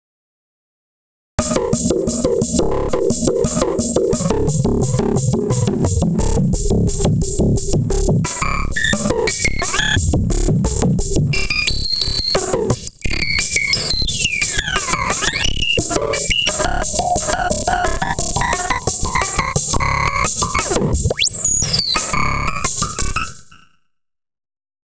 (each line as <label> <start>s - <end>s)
Bass Drum 1.4s - 13.3s
Bass Drum 13.9s - 21.3s